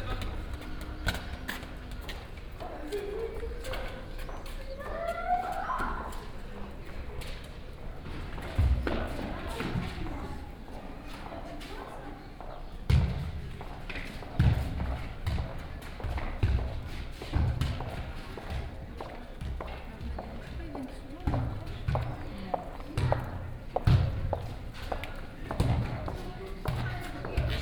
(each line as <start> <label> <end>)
0.0 kids playing in echoing street 27.6